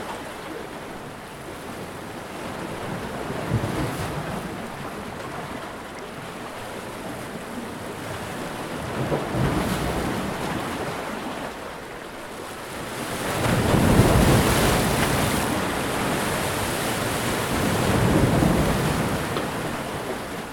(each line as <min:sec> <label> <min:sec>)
0:00.0 Heavier waves breaking against shoreline rocks 0:20.5